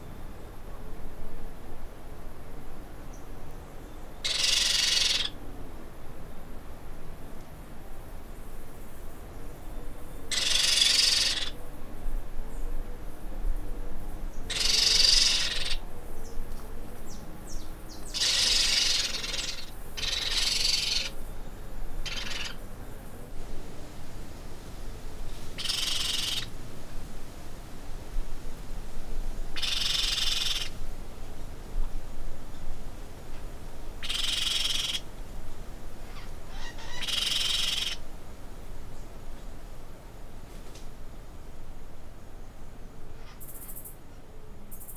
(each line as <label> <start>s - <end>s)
Baby pionus (parrots) screaming 4.2s - 5.4s
Baby pionus (parrots) screaming 10.3s - 11.6s
Baby pionus (parrots) screaming 14.5s - 15.8s
Baby pionus (parrots) screaming 18.2s - 21.1s
Baby pionus (parrots) screaming 22.0s - 22.6s
Baby pionus (parrots) screaming 25.6s - 26.5s
Baby pionus (parrots) screaming 29.6s - 30.7s
Baby pionus (parrots) screaming 34.0s - 35.0s
Baby pionus (parrots) screaming 36.1s - 38.0s